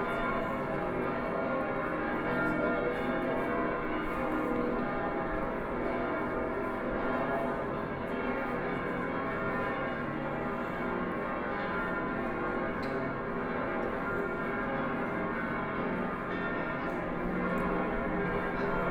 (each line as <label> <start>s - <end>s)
A lot of tourists 0.0s - 18.9s
Church bells 0.0s - 18.9s